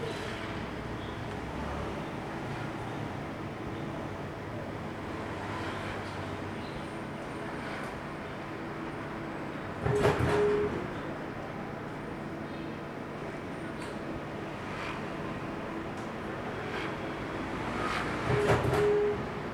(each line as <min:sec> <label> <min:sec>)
0:09.8 sound of small factories 0:10.8
0:13.4 Traffic Sound 0:19.5
0:16.0 sound of small factories 0:19.5